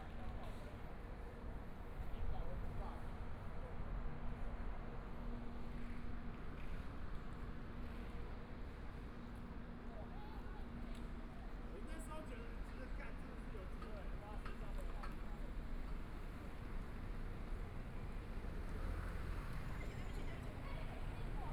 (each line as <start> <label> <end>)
0.0 Walking in the streets 21.5
11.8 Traffic Sound 21.5